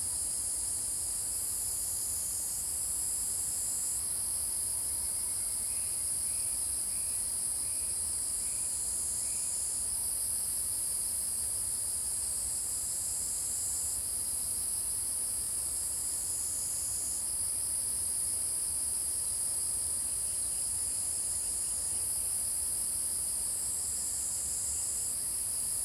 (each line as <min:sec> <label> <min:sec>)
0:04.9 Cicada sounds 0:09.8